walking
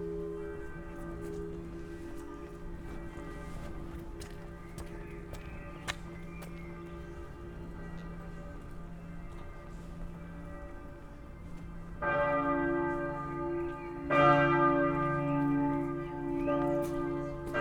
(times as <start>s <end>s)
0.1s 6.8s